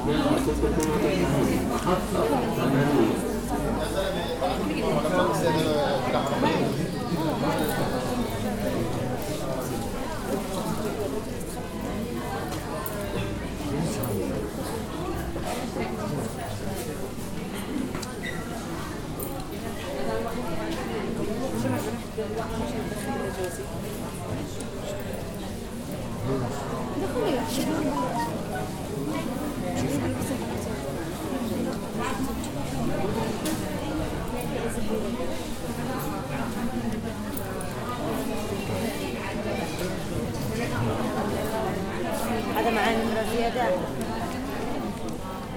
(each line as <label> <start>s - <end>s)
Murmur, Arabic 0.0s - 45.5s